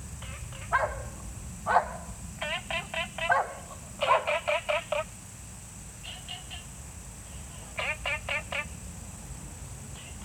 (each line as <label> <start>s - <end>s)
Insect sounds 0.0s - 10.2s
Dogs barking 0.7s - 2.1s
Dogs barking 3.3s - 4.4s
Frogs chirping 6.0s - 6.8s